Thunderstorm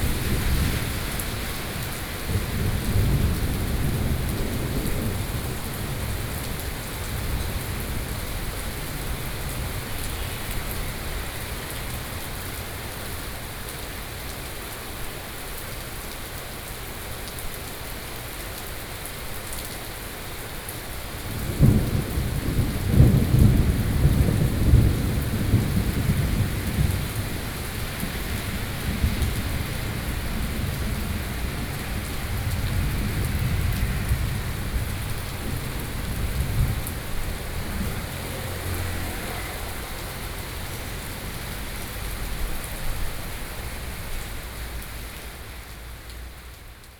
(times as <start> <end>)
0.0 13.0, 21.2 45.4